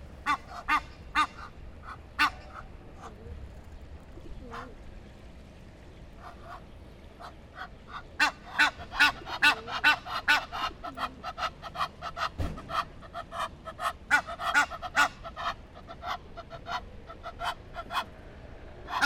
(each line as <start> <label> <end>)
0.2 Egyptian geese 3.4
6.2 Egyptian geese 18.1
18.8 Egyptian geese 19.0